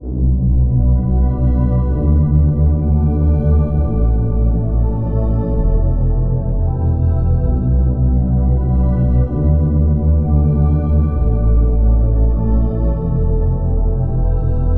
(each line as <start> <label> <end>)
0.0 Bass 14.7